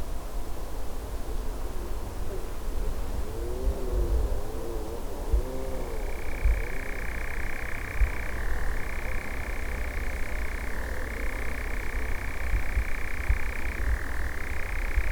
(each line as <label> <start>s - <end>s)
European nightjar 5.9s - 15.1s